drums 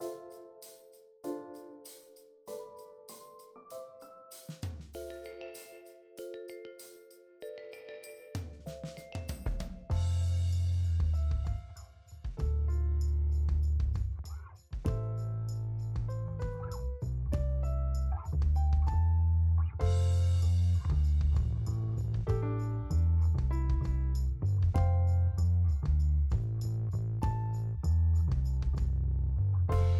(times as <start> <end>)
4.3 5.8, 8.3 15.2, 15.9 17.7, 18.3 19.0, 19.8 25.2, 25.8 27.6, 28.2 29.0, 29.7 29.9